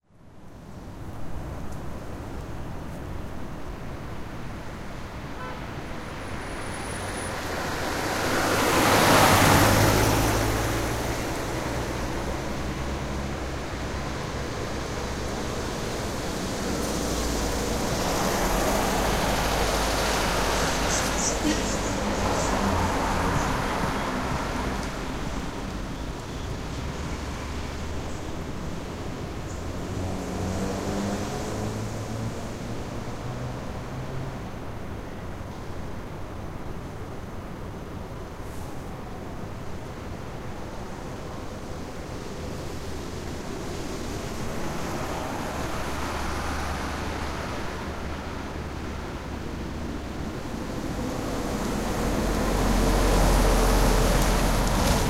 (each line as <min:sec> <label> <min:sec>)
0:00.1 Light traffic 0:55.0